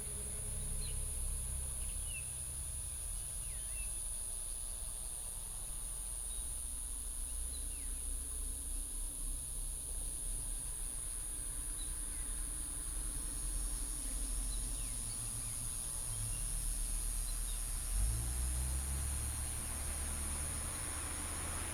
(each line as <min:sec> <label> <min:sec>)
0:00.0 Cicadas 0:21.7
0:17.0 Traffic sound 0:21.7